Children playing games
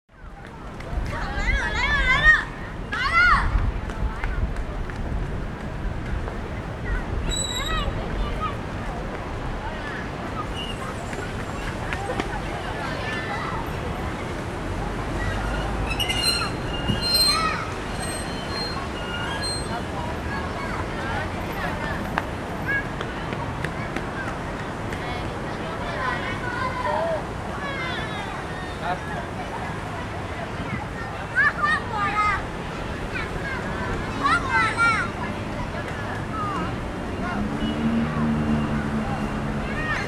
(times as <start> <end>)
0.9 4.4, 15.0 29.3, 30.3 40.0